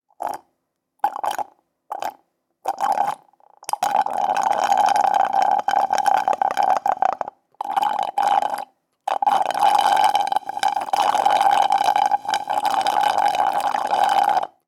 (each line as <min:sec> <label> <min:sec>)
0:01.0 Slurp 0:14.6